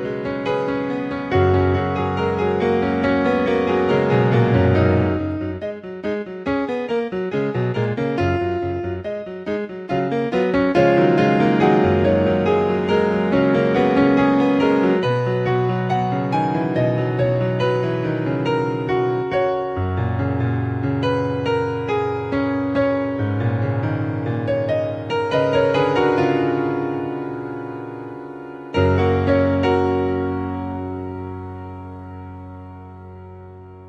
0.0s music 33.8s

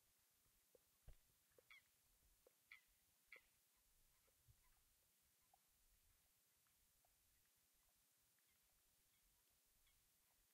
0.7s birds in the background 4.9s

